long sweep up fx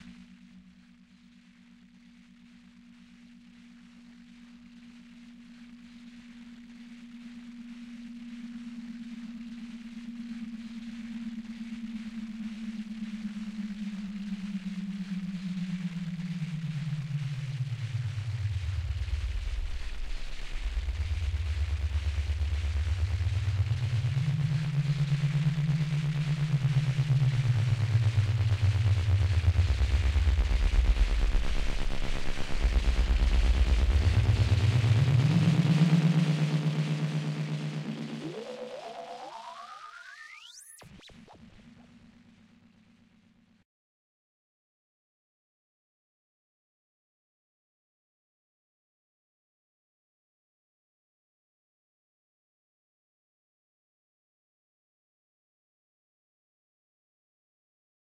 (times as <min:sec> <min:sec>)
0:16.6 0:41.0